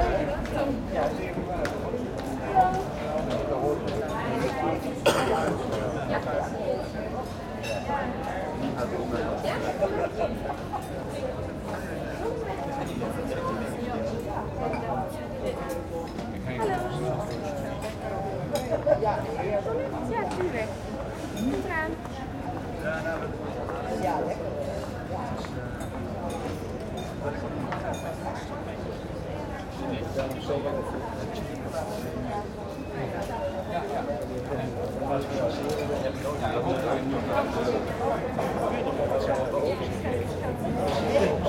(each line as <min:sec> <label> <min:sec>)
0:00.0 walla hum of voices 0:41.4